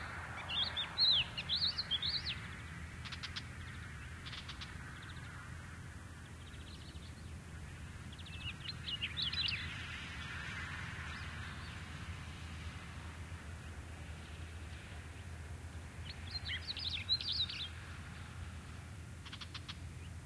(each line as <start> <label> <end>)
0.0 car passing along a dirt trail 20.2